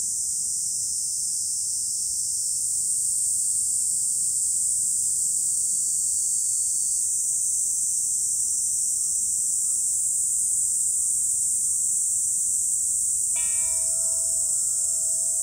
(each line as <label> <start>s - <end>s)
cicadas 0.0s - 15.4s
single bell being rung 13.4s - 15.4s